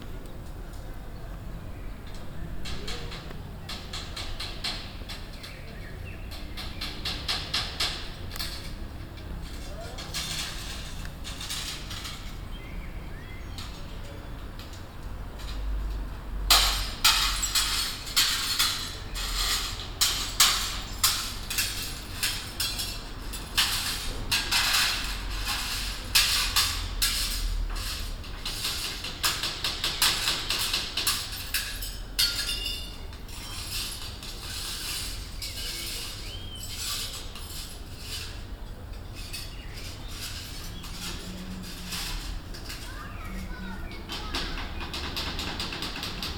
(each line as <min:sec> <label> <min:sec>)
0:02.1 Fixing a balcony baffle 0:15.8
0:16.4 Fixing a balcony baffle 0:46.3